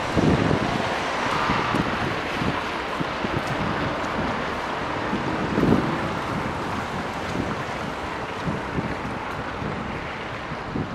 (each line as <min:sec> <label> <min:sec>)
0:00.0 cars driving on wet asphalt 0:10.9
0:00.0 wind 0:10.9
0:00.0 people footsteps 0:10.9